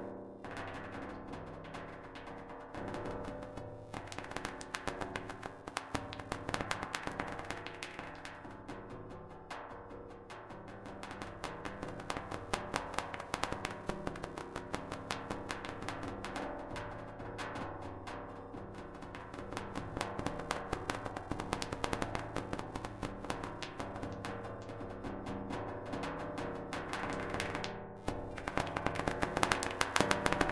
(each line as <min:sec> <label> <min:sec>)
0:28.2 Raining Drops in Sheet Metal 0:30.5